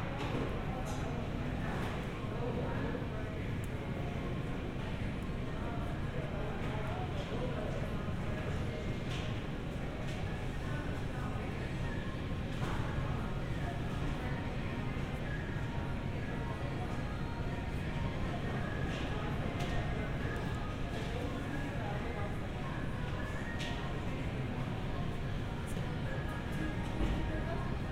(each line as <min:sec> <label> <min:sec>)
0:00.0 faint music in the background 0:27.9